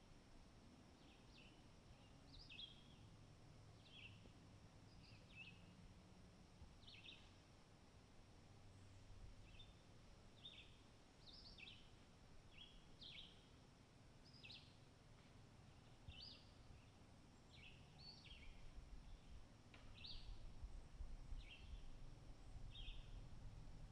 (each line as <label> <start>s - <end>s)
birdsong 1.0s - 3.1s
birdsong 3.8s - 4.3s
birdsong 4.9s - 5.7s
birdsong 6.8s - 7.4s
birdsong 9.4s - 9.8s
birdsong 10.4s - 13.5s
birdsong 14.3s - 14.8s
birdsong 15.7s - 20.5s
birdsong 21.4s - 22.0s
birdsong 22.6s - 23.2s